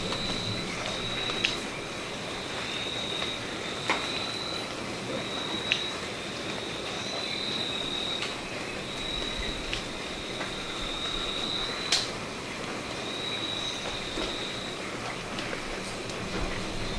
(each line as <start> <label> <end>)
13.0 chirp 14.7